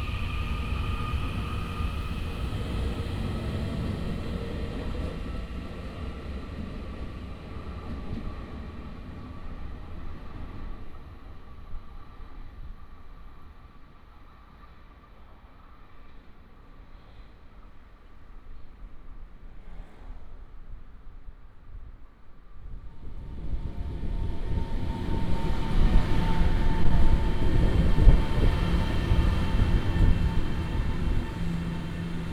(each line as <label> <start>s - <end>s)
Train traveling through 0.0s - 17.1s
Train traveling through 22.6s - 32.3s